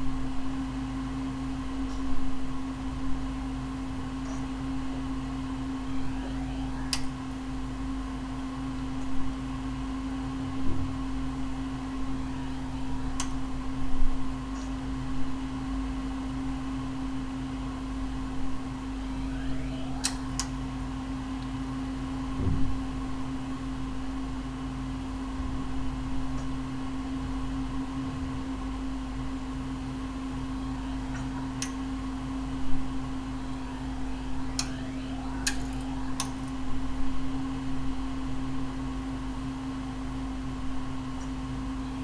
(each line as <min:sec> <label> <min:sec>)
0:00.0 evening rumble form other apartments 0:42.0
0:04.9 high pitched whine 0:07.7
0:18.6 high pitched whine 0:22.3
0:32.4 high pitched whine 0:38.5